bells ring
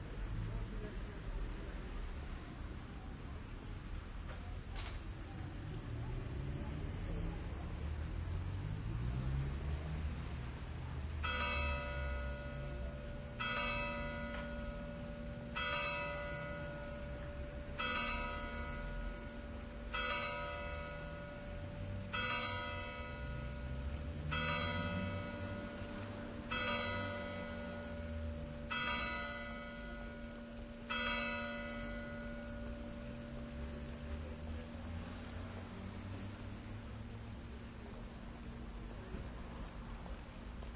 11.2 33.8

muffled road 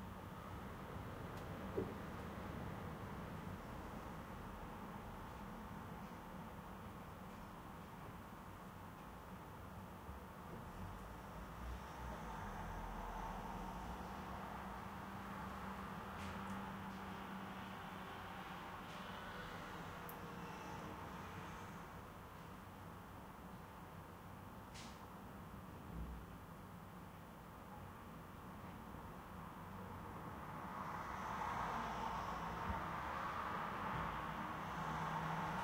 0.0 22.3

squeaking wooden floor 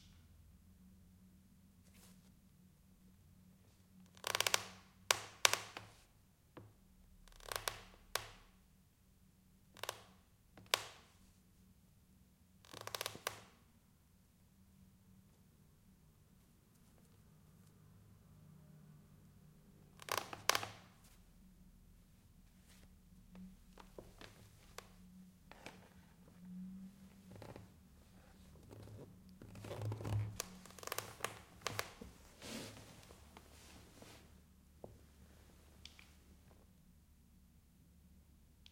28.6 33.1

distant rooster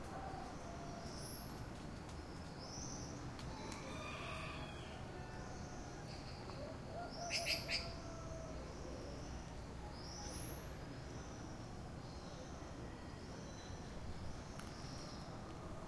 3.5 9.2

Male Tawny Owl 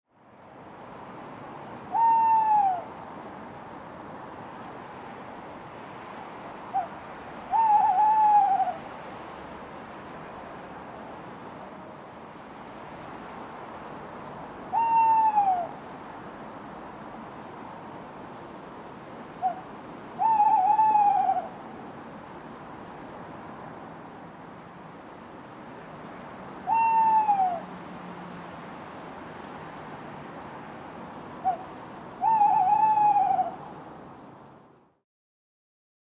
1.9 2.9, 7.5 8.8, 14.7 15.8, 19.4 19.6, 20.2 21.5, 26.7 27.6, 31.4 33.6

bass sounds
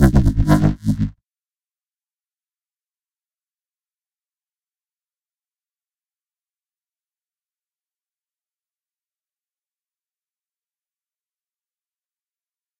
0.0 1.1

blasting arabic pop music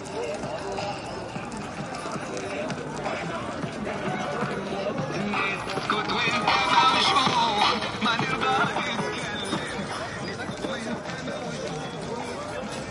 5.0 10.6

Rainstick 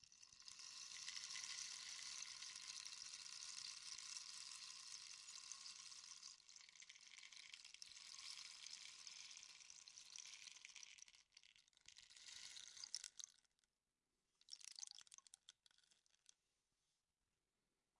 0.2 13.3

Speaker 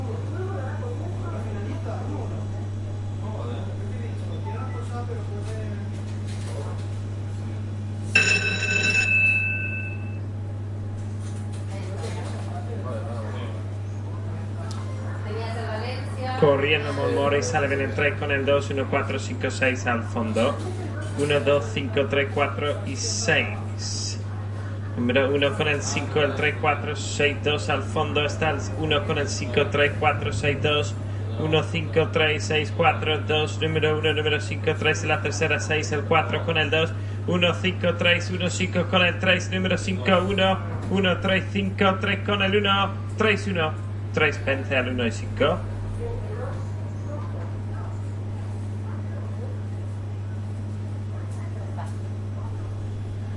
11.7 52.9

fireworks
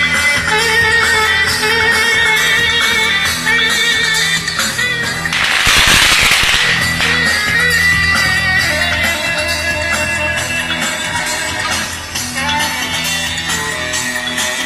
5.3 7.6

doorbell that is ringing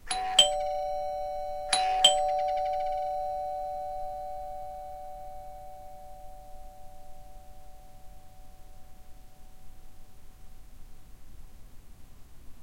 0.0 8.8

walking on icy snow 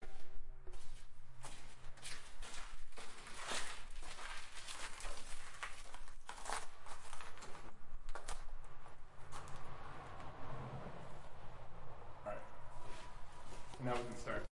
1.3 8.1

